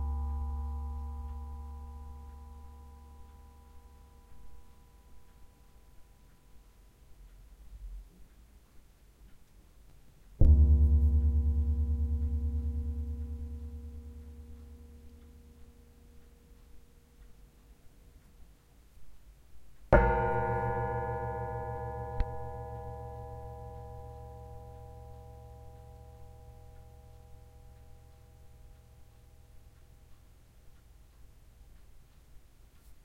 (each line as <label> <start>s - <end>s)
Baking tray (sheet metal) gong 0.0s - 5.1s
Baking tray (sheet metal) gong 10.4s - 16.2s
Baking tray (sheet metal) gong 20.0s - 29.6s